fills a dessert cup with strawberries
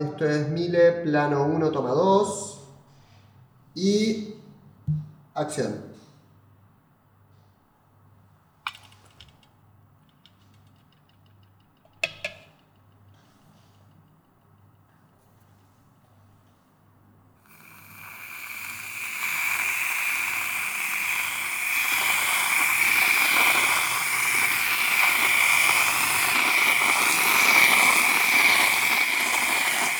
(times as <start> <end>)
17.5 29.9